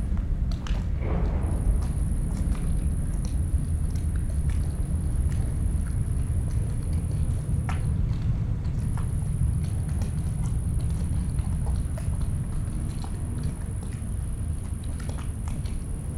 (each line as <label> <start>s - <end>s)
heavy drones of a cargo train passing above me 0.0s - 11.6s
distant sounds of harbour work 0.0s - 16.1s
small waves hitting the body of a ship 0.0s - 16.1s